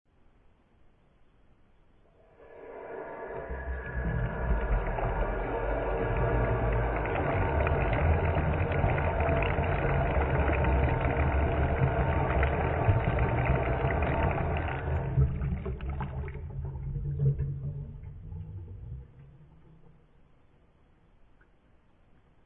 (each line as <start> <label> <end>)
3.4 water falling from an opened tap into the sink 19.3